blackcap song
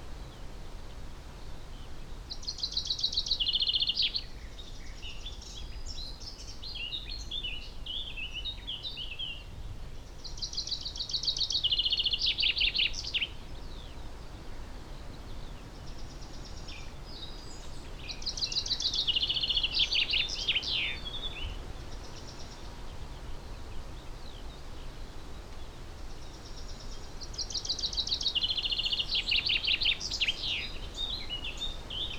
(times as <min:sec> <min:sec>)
0:16.2 0:22.7, 0:23.5 0:32.1